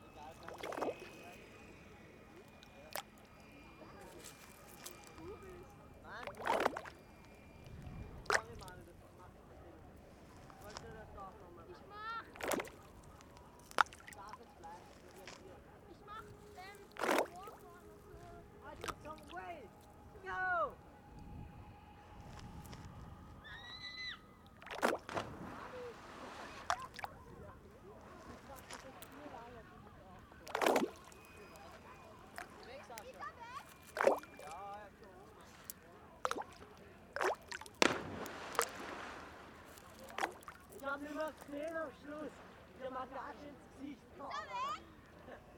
swimmers 0:00.0 - 0:11.0
swimmers 0:24.1 - 0:45.5

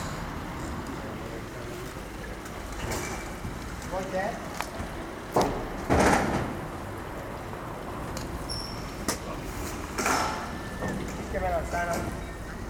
sellers are closing the market, packing up their moving booths 0:00.0 - 0:12.6
others talking each other 0:06.7 - 0:12.6

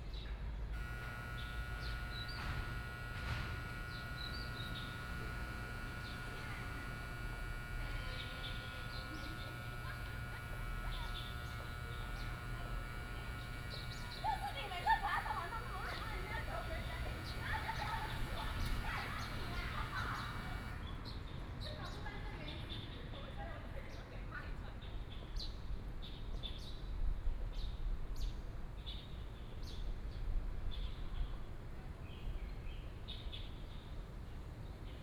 Students voice chat 0:04.7 - 0:20.8

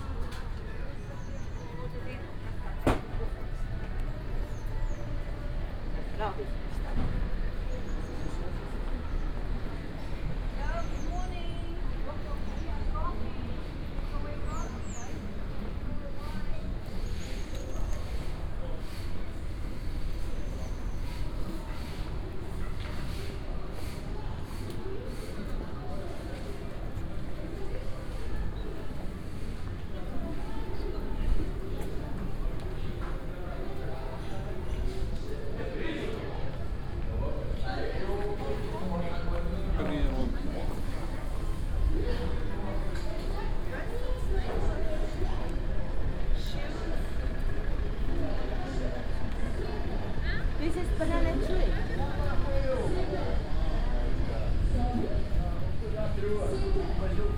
Sounds comming from different shops, cafes, businesses 0:00.0 - 0:57.3
walking around the backstreets 0:16.1 - 0:57.3

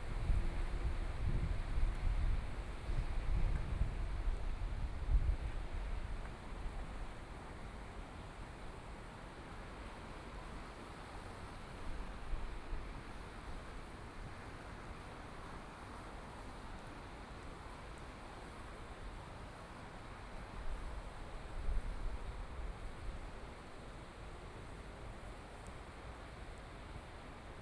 water 0:00.0 - 0:27.6

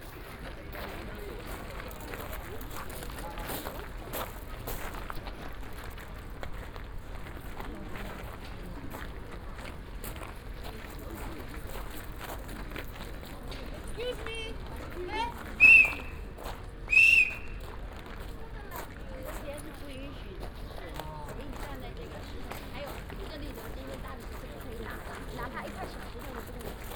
steps of tourists on a crushed limestone make a crunching sound 0:00.0 - 0:26.9

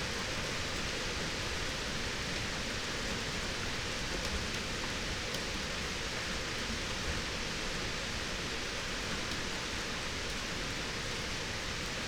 rain 0:00.0 - 0:12.0

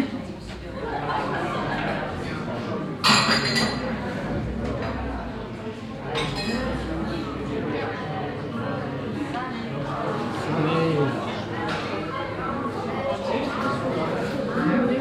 dishes 0:03.0 - 0:03.9
dishes 0:06.2 - 0:06.8

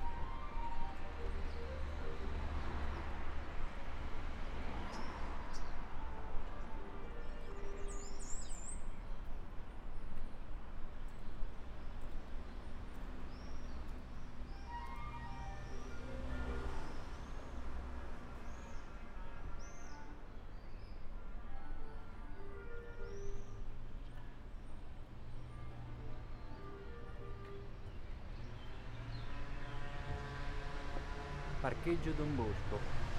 clarinet 0:00.0 - 0:02.6
traffic 0:00.0 - 0:33.1
clarinet 0:14.5 - 0:17.0

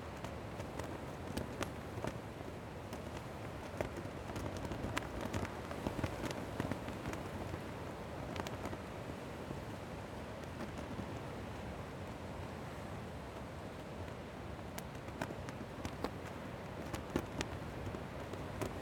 flag flapping in the wind 0:00.0 - 0:18.8

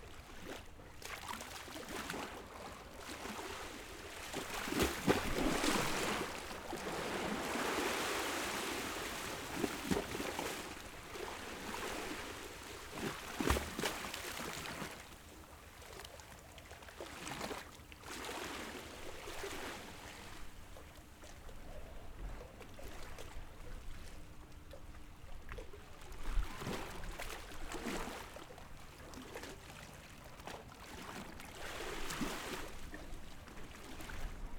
Tide 0:00.0 - 0:34.5

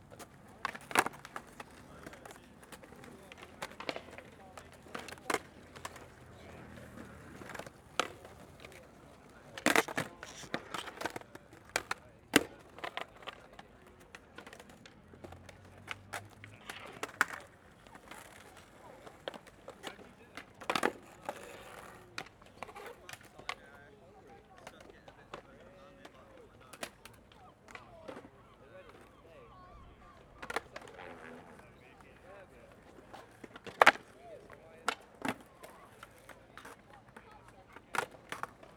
skating 0:00.1 - 0:13.5
skating 0:30.0 - 0:38.7

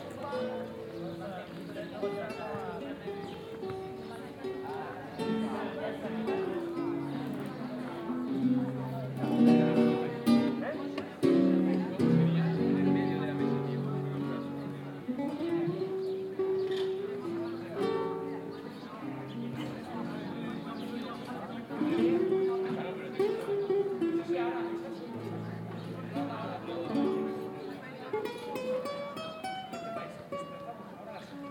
BIGuitarist 0:00.0 - 0:31.5

